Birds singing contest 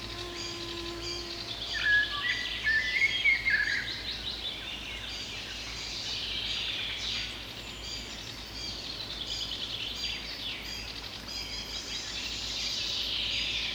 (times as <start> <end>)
0.0 6.7